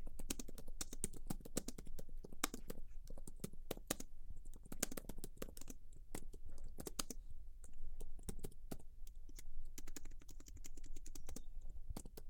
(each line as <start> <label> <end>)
0.0 person typing on a keyboard 12.2